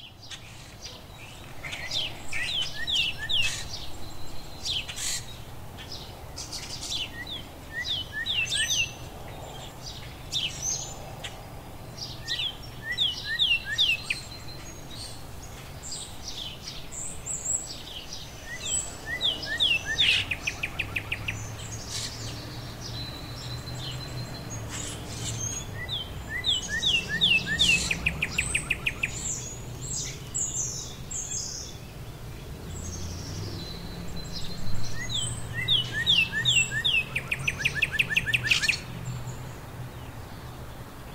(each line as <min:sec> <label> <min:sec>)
0:00.0 Cardinals 0:41.1
0:00.2 Robins announcing their territory 0:16.9
0:17.6 Robins announcing their territory 0:31.8
0:32.6 Robins announcing their territory 0:39.0